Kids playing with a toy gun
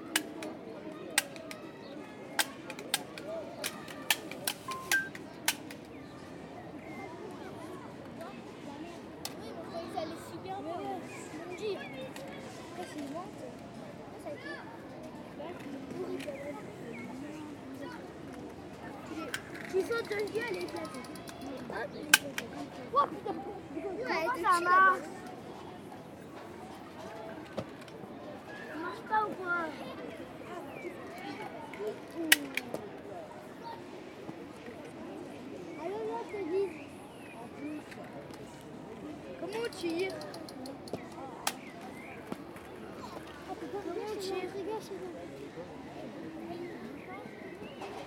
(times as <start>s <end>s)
0.0s 6.4s, 7.6s 13.4s, 17.8s 23.4s, 30.8s 32.8s, 39.4s 44.9s